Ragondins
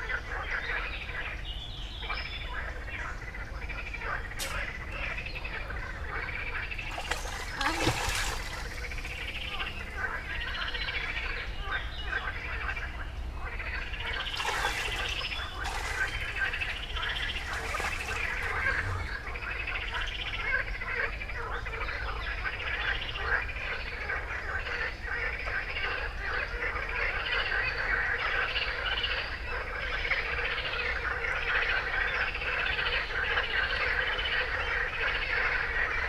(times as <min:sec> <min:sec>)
0:14.2 0:20.0